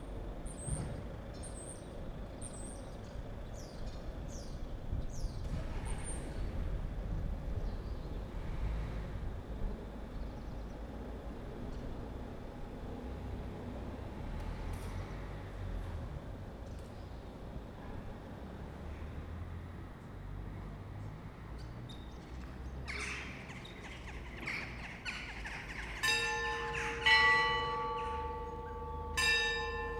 25.6s bells 29.9s
25.9s street sweeper 29.9s

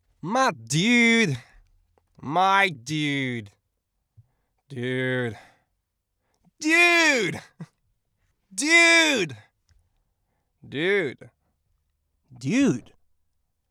0.2s Saying dude 1.4s
6.6s Saying dude 7.5s
8.6s Saying dude 9.4s
12.4s Saying dude 12.9s

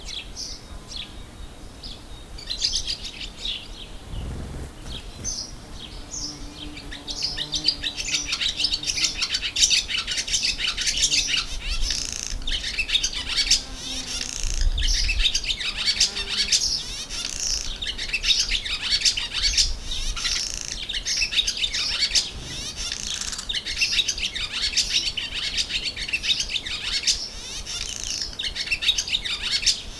3.8s interesting bird sound 8.8s

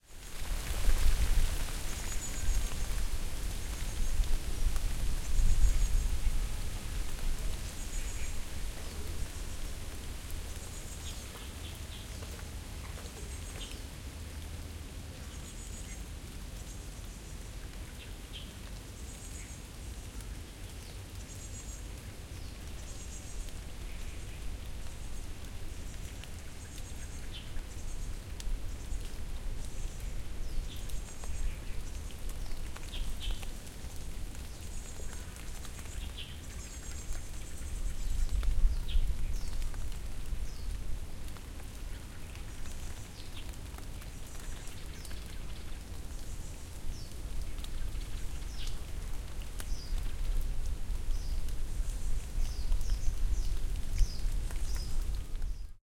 0.0s rain 55.8s
0.0s wind rustling in the trees 55.8s
51.0s birds 55.8s

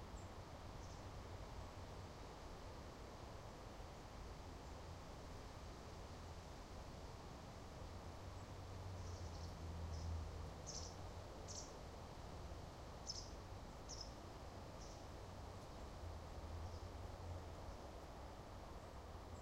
0.0s Pleasantwind 19.4s
0.0s roadhumm 19.4s
8.4s Birds 11.7s
13.0s Birds 14.2s

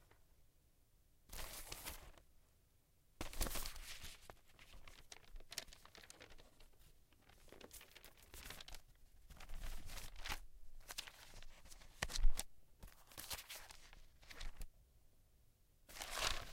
1.3s paper shuffle 2.2s
3.2s paper shuffle 14.7s
15.9s paper shuffle 16.5s

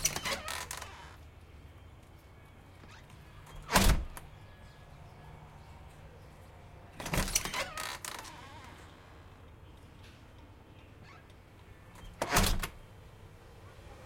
0.0s Front Door Open 1.2s
0.0s Traffic 14.0s
2.8s Front Door Open 4.3s
7.0s Front Door Open 9.0s
10.8s Front Door Open 12.9s

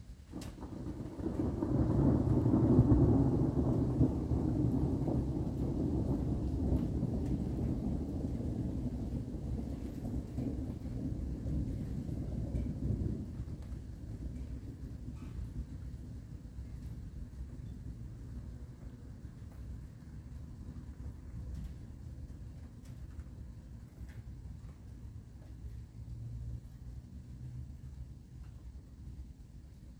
0.2s long, building thunder roll 23.4s

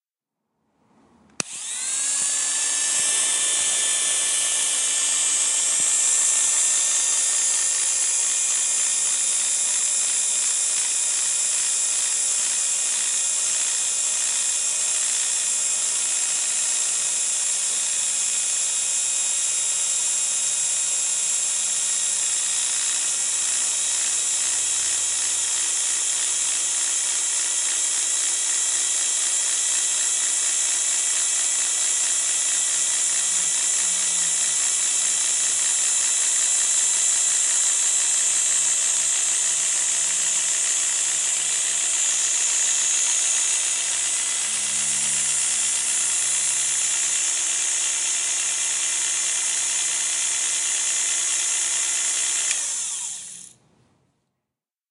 1.4s barber clippers 53.6s

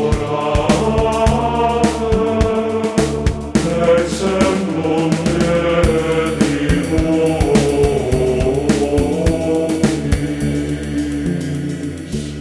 0.0s Gregorian chant 12.3s
0.0s rock 12.4s

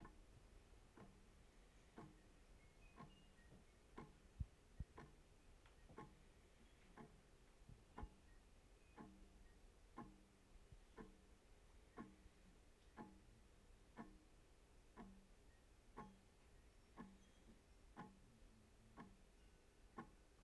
0.9s Wall Clock Ticking on Wall 1.3s
1.9s Wall Clock Ticking on Wall 2.2s
3.0s Wall Clock Ticking on Wall 8.3s
9.0s Wall Clock Ticking on Wall 9.4s
10.0s Wall Clock Ticking on Wall 11.3s
12.0s Wall Clock Ticking on Wall 13.2s
14.0s Wall Clock Ticking on Wall 14.3s
16.0s Wall Clock Ticking on Wall 16.3s
17.0s Wall Clock Ticking on Wall 18.3s

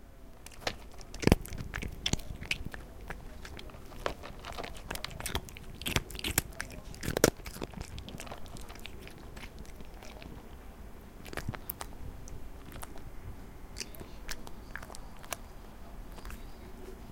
0.3s Cat eating 17.1s

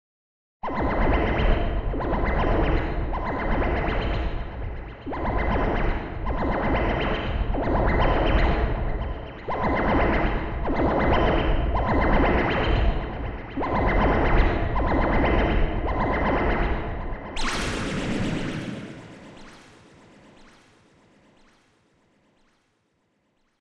17.4s VST synth sound 22.6s

